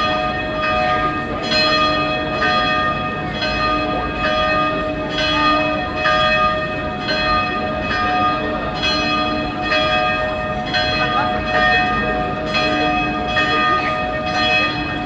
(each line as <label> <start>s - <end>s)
4o clock bells 0.0s - 15.0s
hour bells of the nearby dom church 0.0s - 15.0s